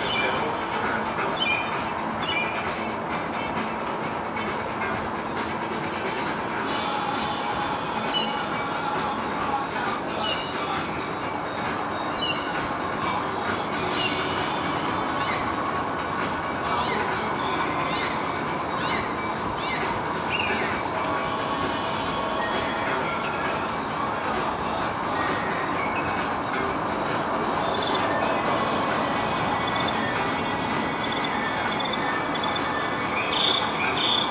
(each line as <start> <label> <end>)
0.0 Mockingbird Serenades 34.3